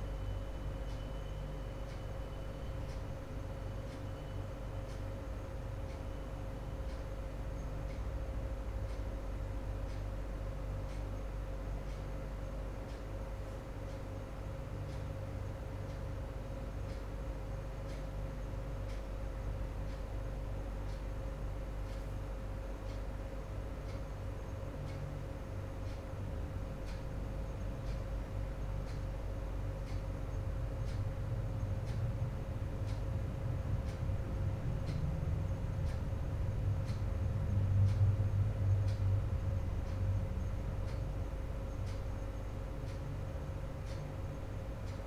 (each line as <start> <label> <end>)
0.0 air conditioning 45.0
0.0 water cooler thermostat 45.0
0.0 working computers 45.0